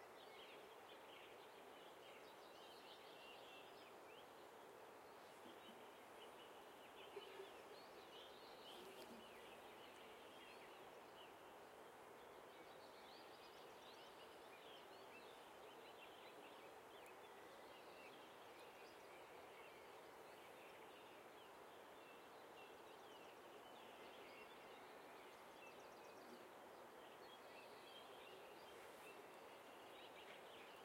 0.0s river 30.8s

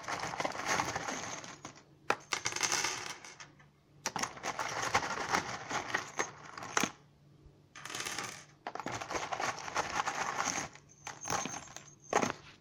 0.0s searching screws from box 1.7s
4.1s searching screws from box 6.9s
7.8s searching screws from box 12.6s

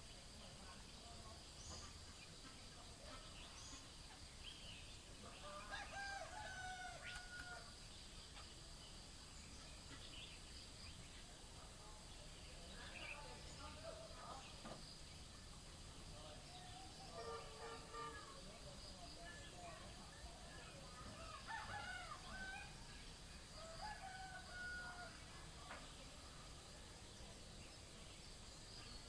0.0s birds 29.0s
0.0s insects 29.0s
5.2s roosters 8.6s
19.1s roosters 26.1s

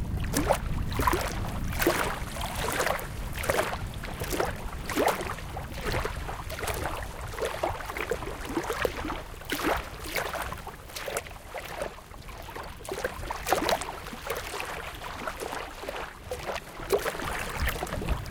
0.0s strong wind 7.2s
0.0s waves reaching the shore 18.3s
17.2s strong wind 18.3s

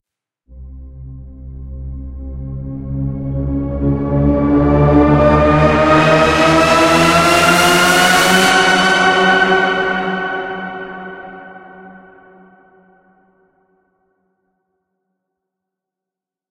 0.5s synth 11.2s

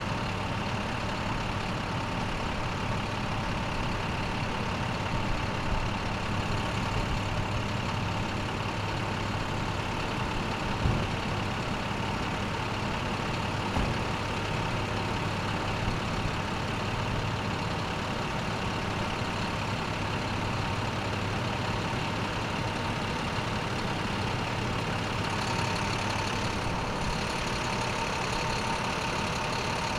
0.0s Medium duty medic truck idling then driving away 29.9s
13.5s truck doors closing 14.4s

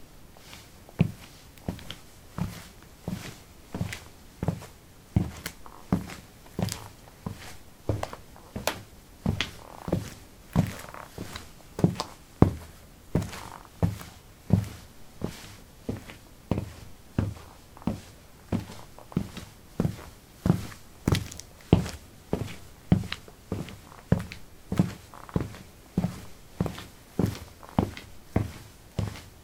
0.4s footsteps 29.4s

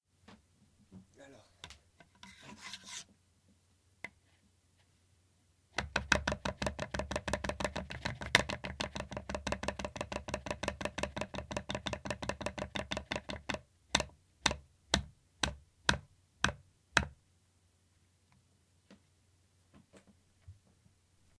2.0s knife on wood 3.1s

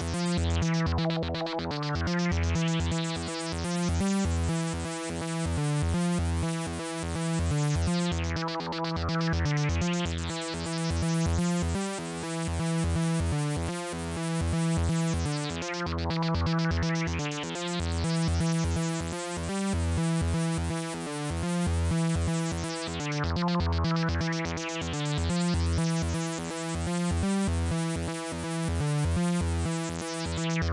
0.0s synth 5.5s
6.5s synth 11.6s
14.4s synth 19.4s
21.9s synth 27.0s
29.2s synth 30.7s

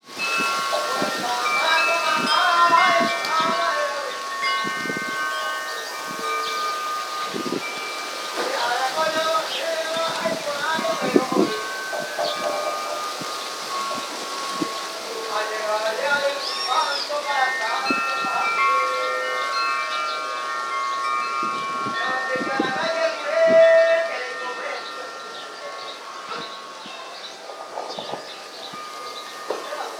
0.0s birds singing 29.9s
0.1s chimes 29.9s
0.8s someone speaking in guarani 4.2s
22.0s someone speaking in guarani 25.2s

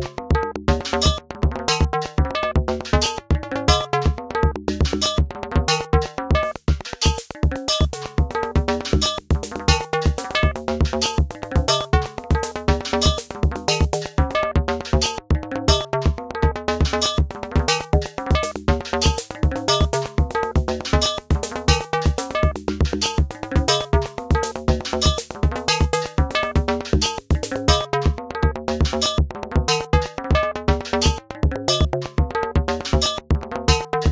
0.0s synthesizer 34.1s
0.7s drum 1.9s
4.8s drum 15.1s
16.8s drum 28.2s
28.8s drum 34.1s

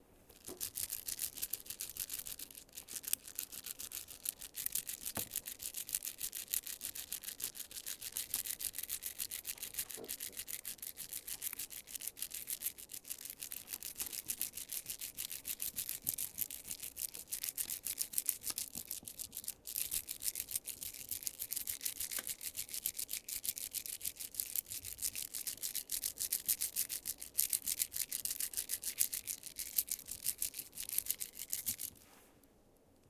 0.3s beads bracelet 32.0s

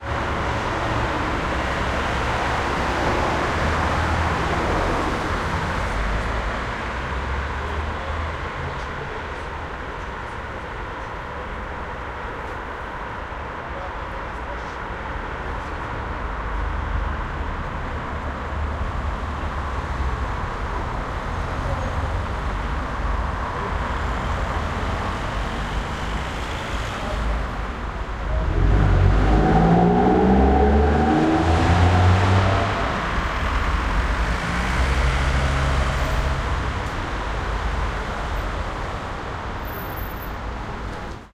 0.0s traffic noise 41.3s

